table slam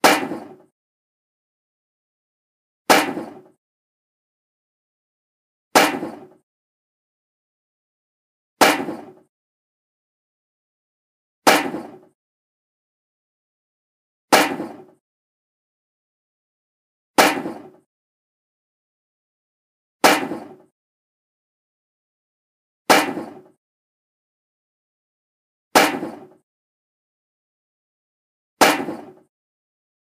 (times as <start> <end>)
0.0 0.7, 2.9 3.6, 5.8 6.4, 8.6 9.3, 11.5 12.1, 14.4 15.0, 17.2 17.8, 20.0 20.7, 22.9 23.6, 25.8 26.4, 28.6 29.3